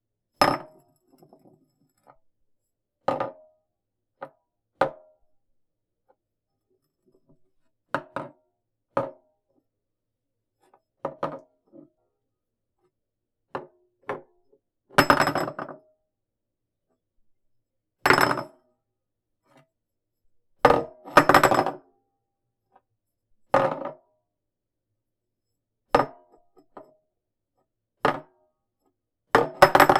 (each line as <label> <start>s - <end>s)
dropping a small glass jar on a countertop 0.4s - 2.2s
dropping a small glass jar on a countertop 11.0s - 11.5s
dropping a small glass jar on a countertop 15.0s - 15.8s
dropping a small glass jar on a countertop 18.1s - 18.6s
dropping a small glass jar on a countertop 20.7s - 21.8s
dropping a small glass jar on a countertop 23.6s - 24.0s
dropping a small glass jar on a countertop 29.4s - 29.9s